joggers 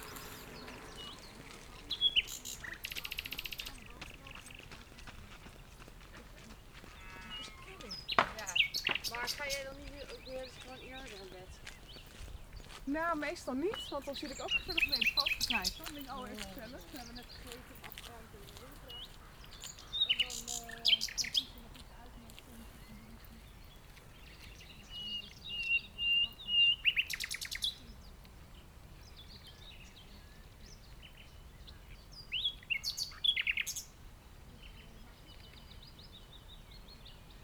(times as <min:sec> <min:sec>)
0:00.0 0:24.6